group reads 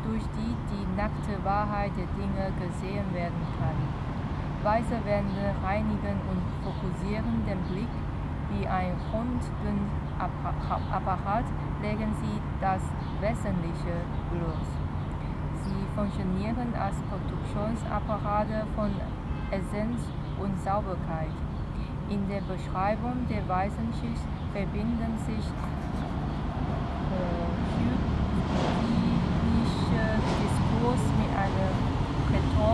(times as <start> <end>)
22.2 32.7